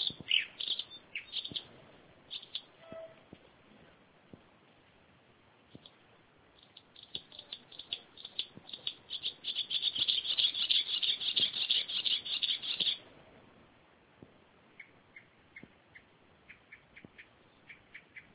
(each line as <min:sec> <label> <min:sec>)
0:00.0 summer nigth's bird 0:02.7
0:05.6 summer nigth's bird 0:13.0